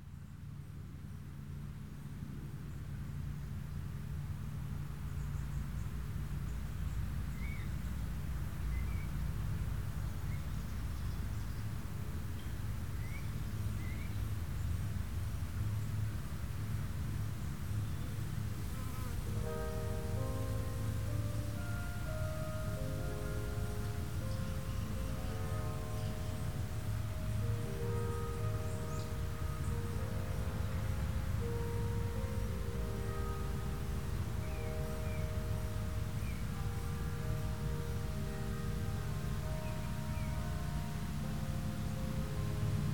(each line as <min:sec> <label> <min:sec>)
0:02.8 layers of crickets 0:42.9
0:18.6 Churchbell songs 0:42.9